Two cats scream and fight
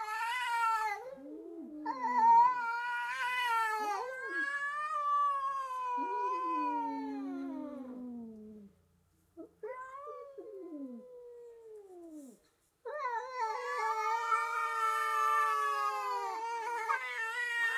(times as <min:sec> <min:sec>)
0:00.0 0:01.1, 0:01.9 0:07.5, 0:12.9 0:17.7